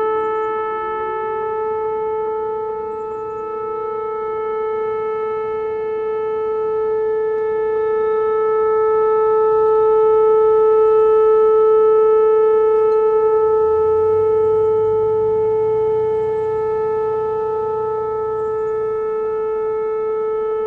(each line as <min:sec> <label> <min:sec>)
0:00.0 tornado siren test 0:20.6